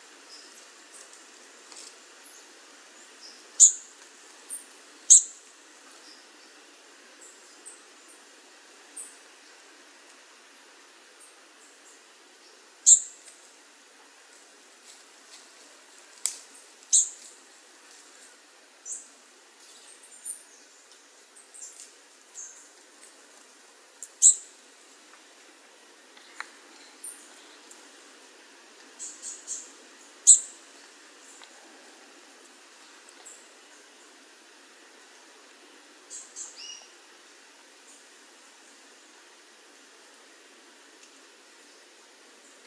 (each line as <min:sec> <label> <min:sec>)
0:00.0 Wind 0:42.6
0:00.2 birds 0:08.3
0:11.2 birds 0:13.5
0:16.4 birds 0:17.4
0:24.0 birds 0:24.5
0:28.9 birds 0:34.2